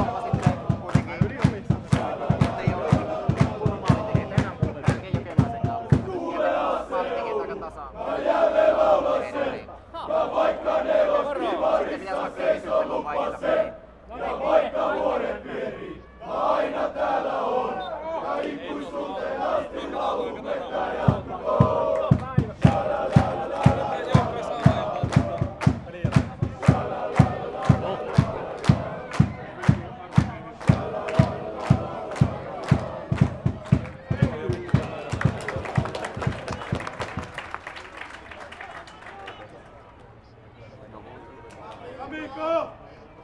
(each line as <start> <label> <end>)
0.0 supporters singing and chanting 37.4